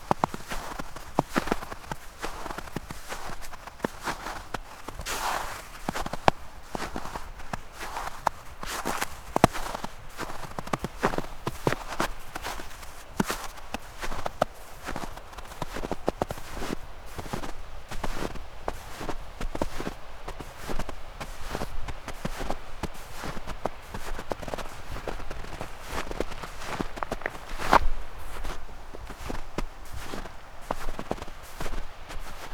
river 0.0 - 32.5

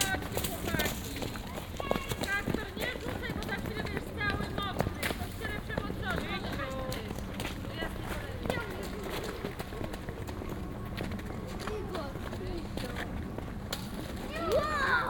kids playing with snow 0.0 - 9.8
kids playing with snow 11.4 - 13.0
kids playing with snow 14.1 - 15.0

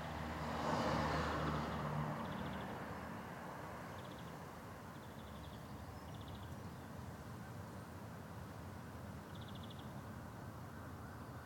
individual cars and lorries passing sporadically 0.0 - 11.4
birds singing 4.0 - 7.0
birds singing 9.3 - 10.0

